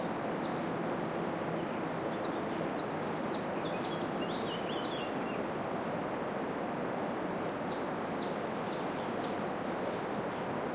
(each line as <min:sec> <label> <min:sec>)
0:01.6 bird tweets 0:05.4
0:07.4 bird tweets 0:10.1